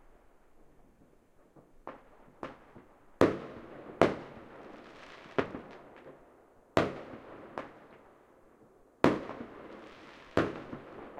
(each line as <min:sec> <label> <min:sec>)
0:09.0 Distant Fireworks 0:11.1